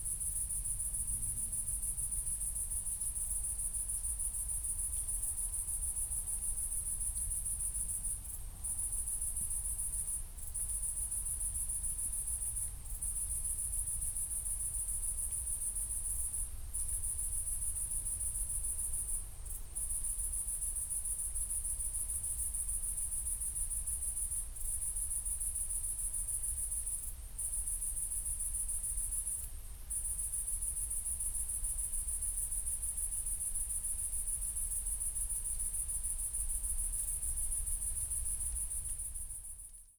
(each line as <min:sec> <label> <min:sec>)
0:00.0 cricket 0:39.9